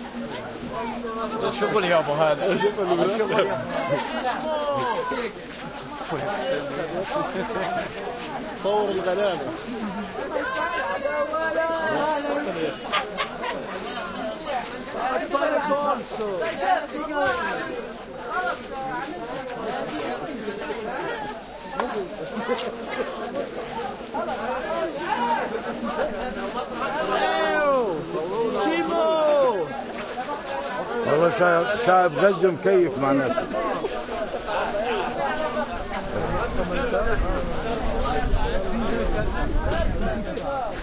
0.0s busy crowd arabic walla 40.8s

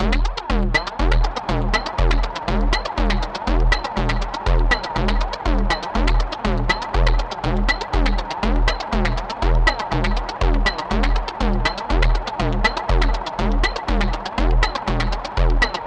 0.0s Percussion 15.8s

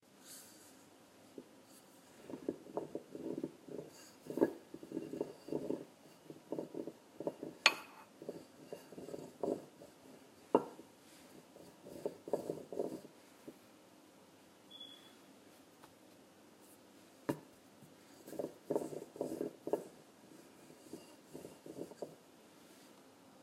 1.4s Wooden Rolling Pin on Marble 13.6s
17.3s Wooden Rolling Pin on Marble 22.2s

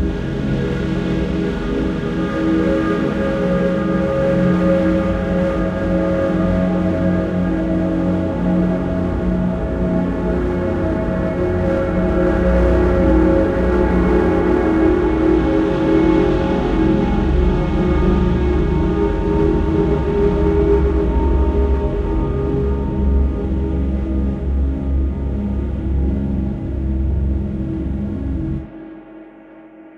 0.0s Drums 29.0s
0.0s Drone 29.9s
0.0s Pad 29.9s
0.0s Piano 29.9s

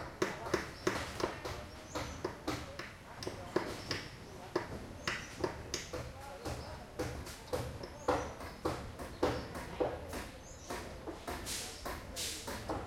0.0s Construction 12.8s

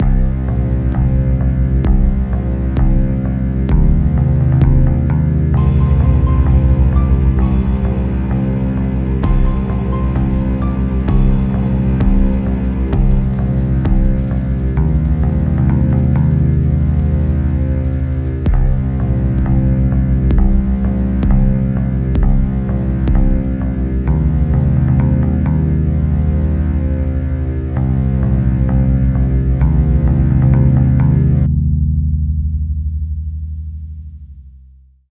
0.0s bass riff 35.0s

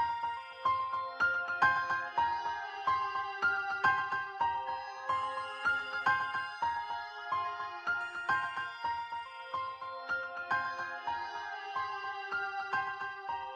0.0s music 13.5s

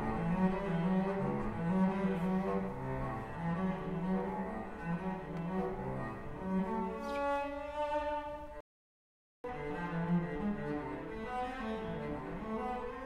0.0s cello being played 8.6s
9.4s cello being played 13.0s

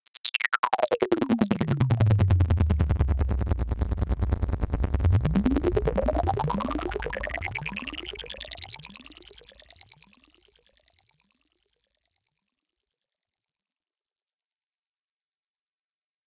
0.8s synth 10.0s

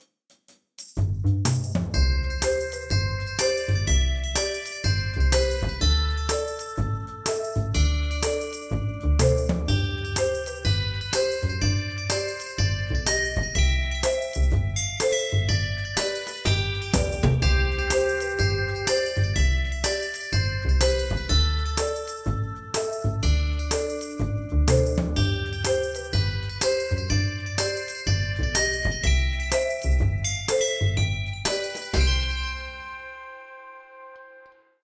0.0s drums 32.9s
1.0s double bass 33.1s
2.0s marimba 34.2s

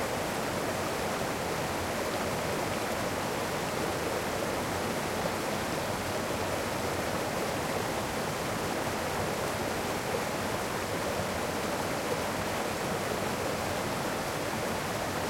0.0s Waterfall stream close 15.2s

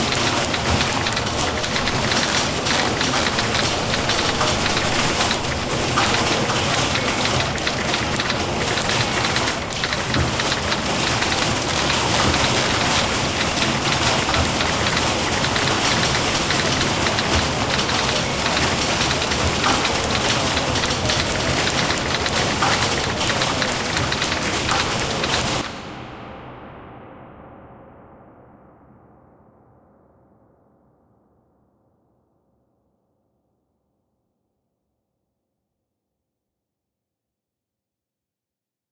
0.0s huge typing pool 25.7s

